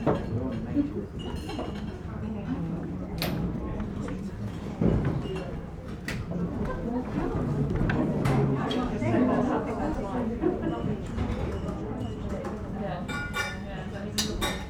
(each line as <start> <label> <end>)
0.0 polite english clientelle at lunch 14.6